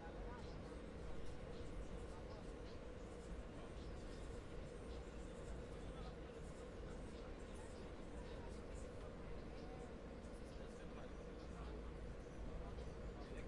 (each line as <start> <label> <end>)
0.0 Subway ride 13.4
0.0 voices 13.4